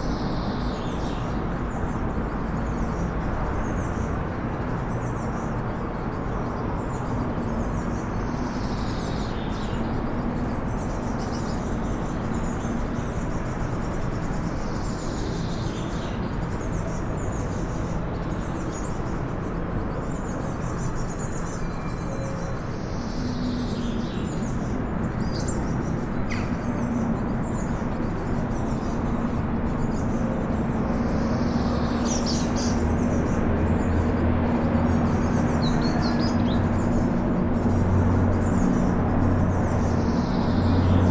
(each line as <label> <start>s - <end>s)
traffic noise 0.0s - 41.1s